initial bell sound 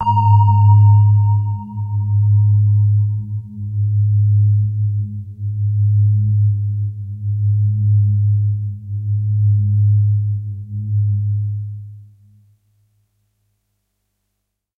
0.0 3.2

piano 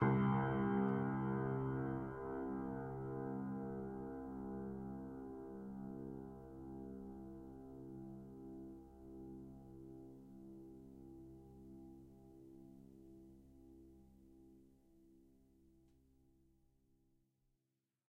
0.0 14.2

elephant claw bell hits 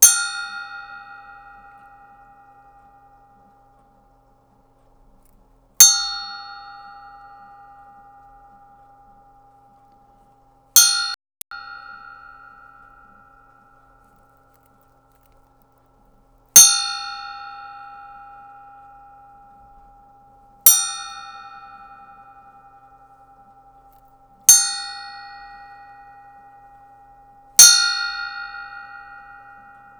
5.8 9.2, 10.8 15.6, 16.6 29.9

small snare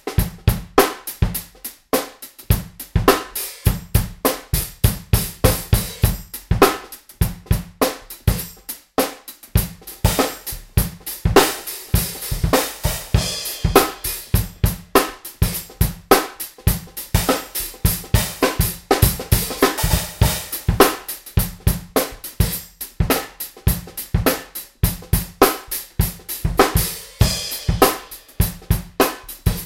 0.8 2.5, 6.6 7.2, 7.8 9.5, 16.1 16.6, 25.4 25.9, 29.0 29.6

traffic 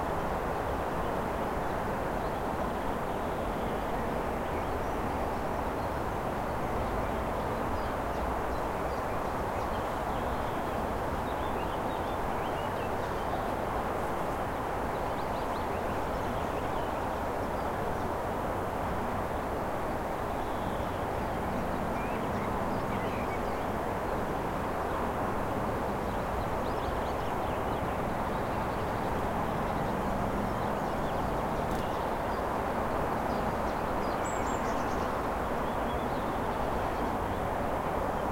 27.0 38.2

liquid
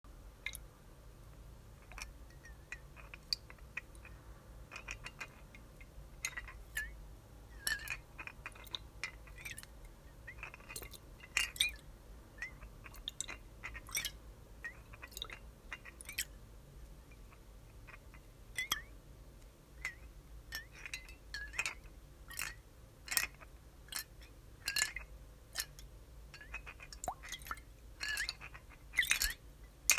3.0 5.5, 10.4 11.9, 12.5 16.3, 19.8 29.9

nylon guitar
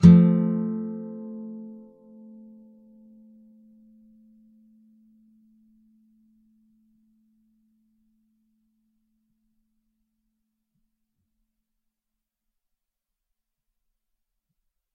0.0 6.6

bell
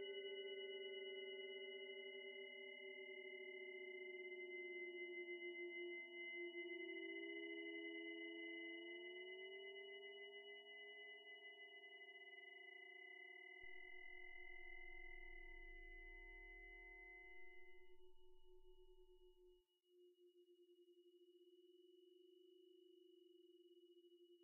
13.7 19.2

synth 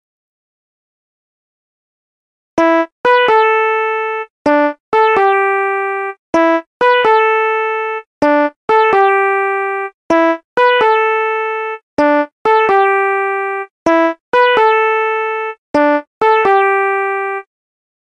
12.0 13.2, 15.8 17.4

